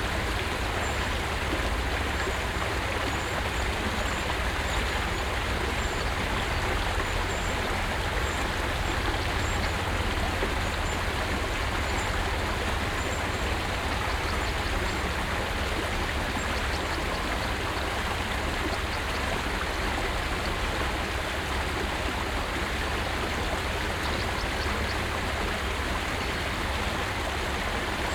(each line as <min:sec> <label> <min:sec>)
0:00.0 small stream 0:28.1
0:23.0 birds 0:27.0